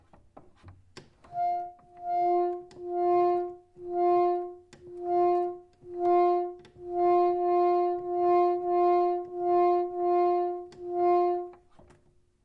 Pump Organ - Mid F 0:02.1 - 0:11.6

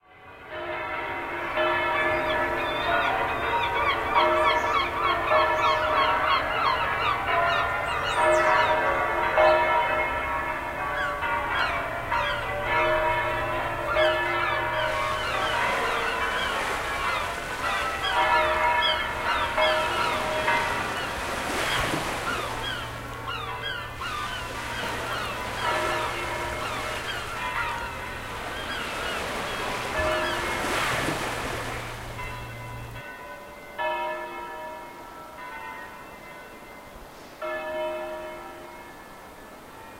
bells 0:00.0 - 0:39.9
seawaves 0:00.7 - 0:39.9
seagulls 0:01.4 - 0:09.7
seagulls 0:10.9 - 0:31.9

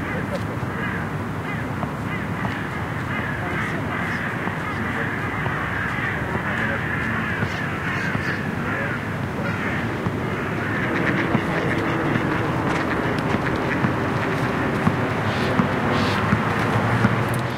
man talking 0:00.0 - 0:01.1
crows 0:00.0 - 0:16.5
busses 0:00.0 - 0:17.5
cars 0:00.0 - 0:17.5
ducks 0:00.0 - 0:17.5
motorbikes 0:00.0 - 0:17.5
woman speaks 0:03.4 - 0:05.1
man talking 0:03.4 - 0:13.2

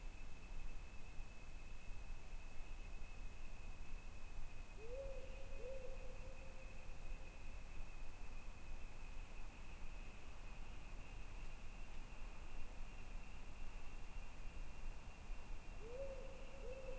Powerful Owl 0:04.8 - 0:06.4
Powerful Owl 0:15.8 - 0:16.9

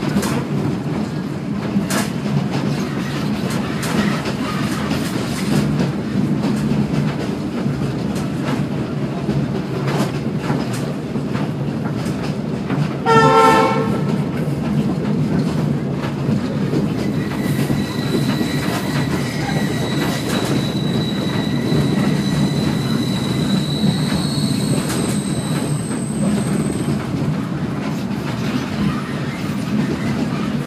Train sounds 0:00.0 - 0:30.6

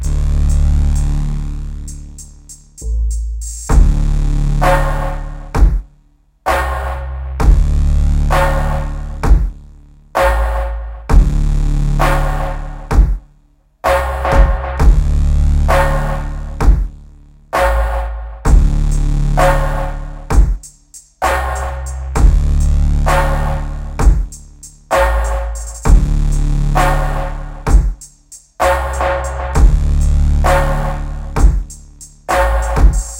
Drumloop 0:00.0 - 0:17.0
Saw Bass 0:00.0 - 0:33.1
Drumloop 0:17.6 - 0:33.1

